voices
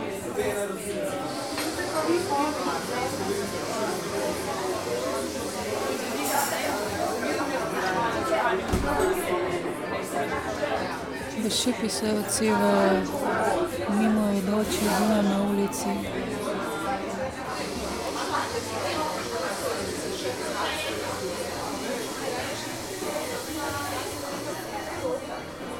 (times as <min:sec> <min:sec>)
0:11.3 0:17.8